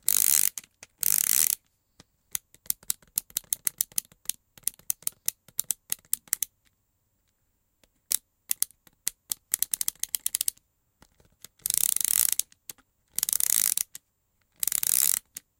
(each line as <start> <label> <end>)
0.0 Small Mechanism 1.7
0.0 Plastic Ratchet 1.6
2.3 Plastic Ratchet 6.5
2.3 Small Mechanism 6.5
7.8 Small Mechanism 15.5
8.1 Plastic Ratchet 15.5